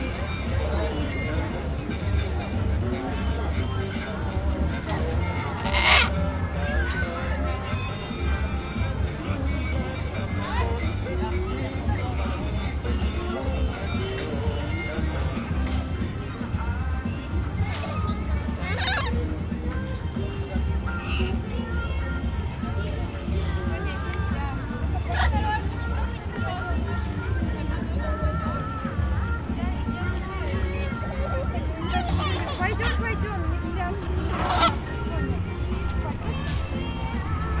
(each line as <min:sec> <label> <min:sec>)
0:00.0 Adults with children 0:37.6
0:04.7 Voices of children 0:37.6
0:05.2 Voice of parrots 0:06.9
0:34.2 Voice of parrots 0:34.9